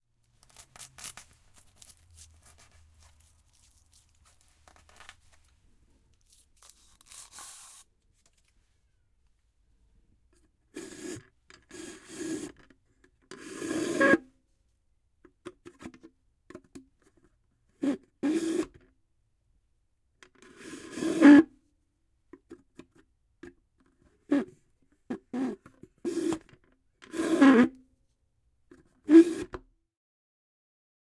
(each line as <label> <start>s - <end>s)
plastic straw up and down of a cup 0.3s - 5.6s
plastic straw up and down of a cup 6.2s - 8.4s
plastic straw up and down of a cup 10.8s - 12.7s
plastic straw up and down of a cup 13.3s - 14.2s
plastic straw up and down of a cup 17.8s - 18.8s
plastic straw up and down of a cup 20.3s - 21.5s
plastic straw up and down of a cup 25.1s - 27.8s
plastic straw up and down of a cup 28.7s - 29.6s